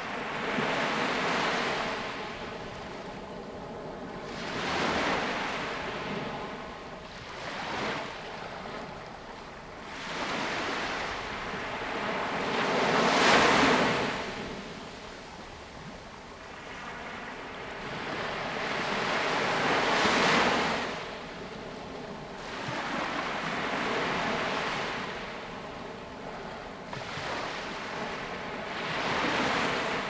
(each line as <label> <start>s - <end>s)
waves 0.0s - 30.0s